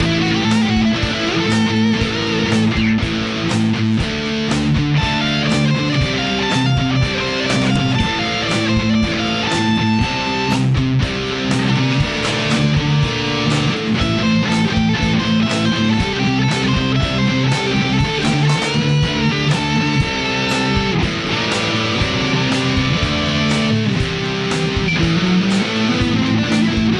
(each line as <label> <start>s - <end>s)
bass 0.0s - 26.9s
raggensolo 0.0s - 26.9s